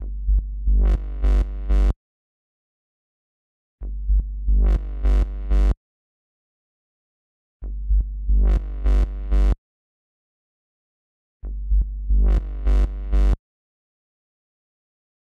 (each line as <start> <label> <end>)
0.0 synthesized bass 2.0
3.8 synthesized bass 5.8
7.6 synthesized bass 9.6
11.4 synthesized bass 13.4